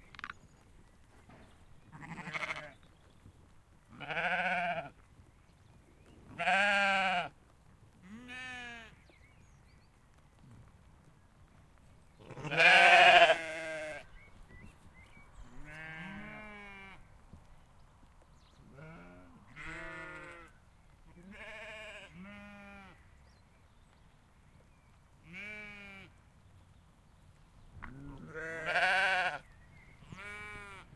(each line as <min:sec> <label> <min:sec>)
0:00.0 wind 0:30.9
0:00.2 sheep 0:23.1
0:27.8 sheep 0:30.9